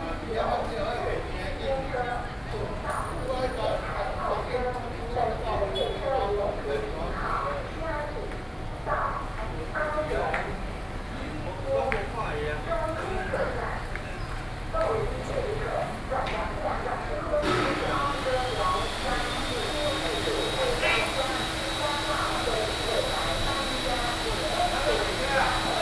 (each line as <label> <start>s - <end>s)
Construction noise 15.9s - 25.8s